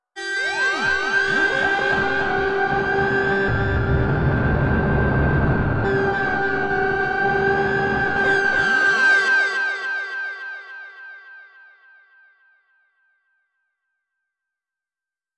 strong, aggressive electronic growl/scream 1.2 - 8.6

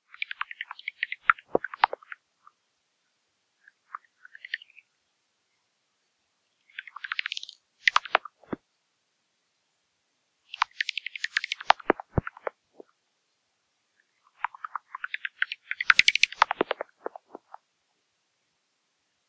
Bats 6.7 - 8.6
Bats 10.5 - 12.9
Bats 14.1 - 17.6

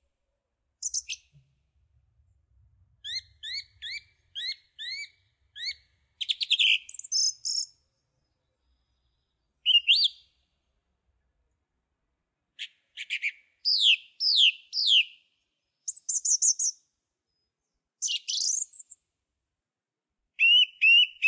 Song Thrush singing from a branch 0.8 - 1.5
Song Thrush singing from a branch 2.3 - 10.6
Song Thrush singing from a branch 12.5 - 19.1
Song Thrush singing from a branch 20.3 - 21.2

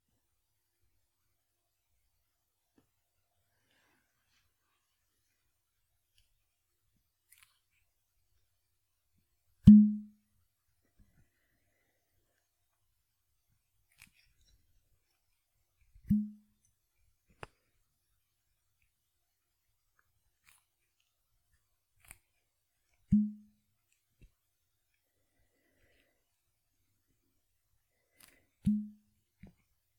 Popping Off A Cork From A Bottle 16.0 - 16.4
Popping Off A Cork From A Bottle 28.6 - 29.0

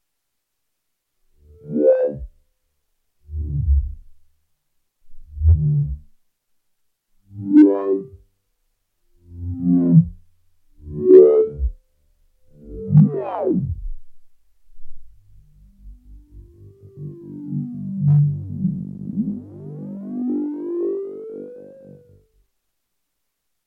Slow distorted wah effect 1.4 - 2.4
Slow distorted wah effect 3.2 - 4.2
Slow distorted wah effect 5.1 - 6.2
Slow distorted wah effect 9.2 - 10.2
Slow distorted wah effect 10.8 - 11.8
Slow distorted wah effect 12.5 - 19.9

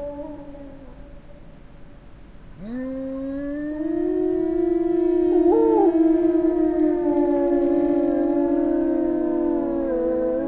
Wolves howling, small pack 0.0 - 1.2
Wolves howling, small pack 2.6 - 10.4

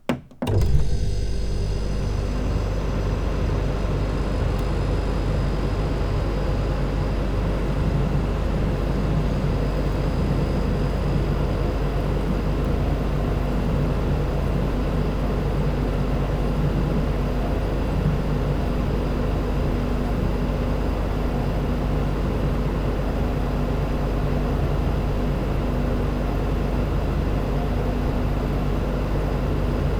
portable home dehumidifier 0.0 - 21.5

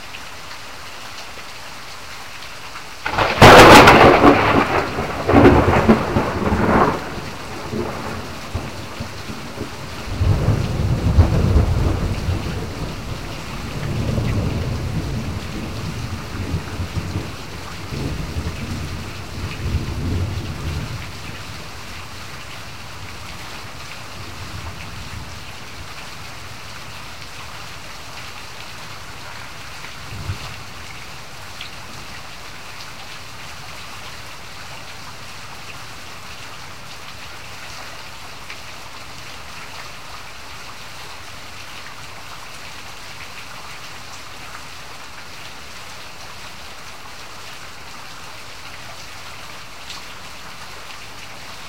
Rain 0.0 - 51.6
Thunder 3.0 - 8.8
Thunder 9.5 - 12.8

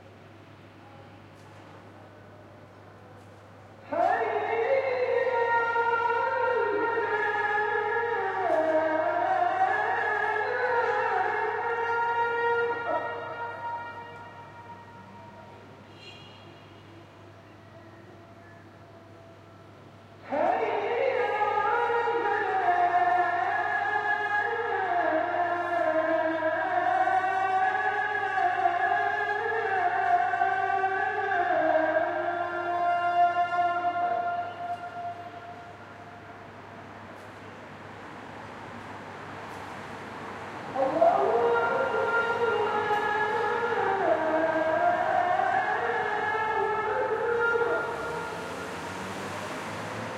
loud call for prayer 0.8 - 50.1

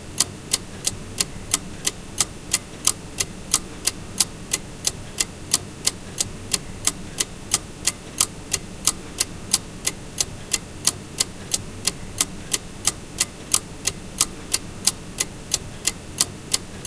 Ticking of older table clock 0.1 - 16.8

